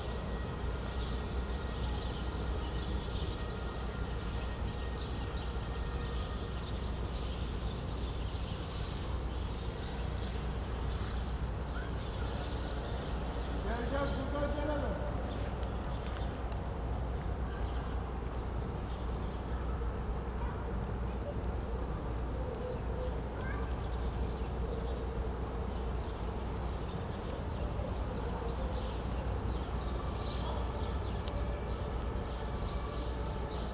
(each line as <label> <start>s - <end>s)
man shouts in the distance 13.6s - 15.4s